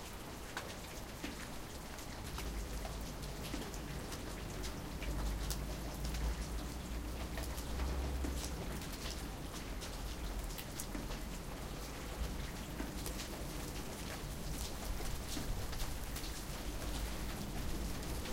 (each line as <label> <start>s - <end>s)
raindrops 0.0s - 18.3s